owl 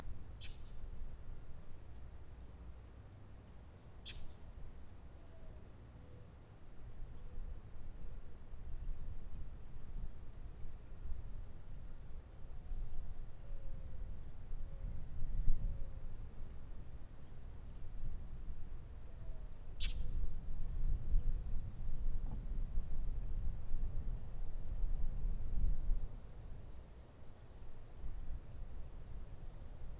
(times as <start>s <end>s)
0.4s 0.7s, 19.2s 20.2s